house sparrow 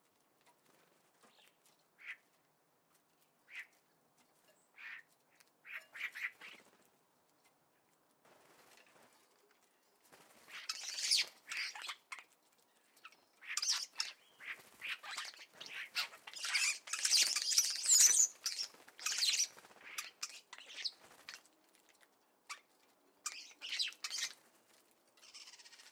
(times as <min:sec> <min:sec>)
0:09.2 0:25.9